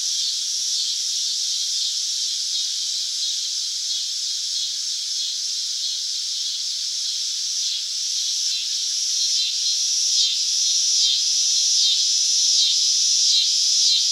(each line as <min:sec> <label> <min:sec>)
0:00.0 cicadas 0:14.1